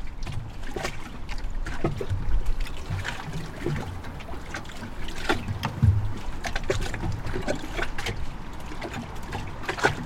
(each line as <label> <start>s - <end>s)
sea 0.0s - 10.0s